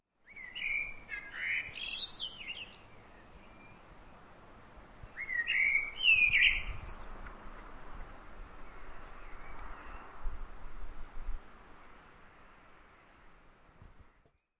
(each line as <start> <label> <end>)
0.2 Birdsong 4.3
5.0 Birdsong 7.3
8.5 Birdsong 10.2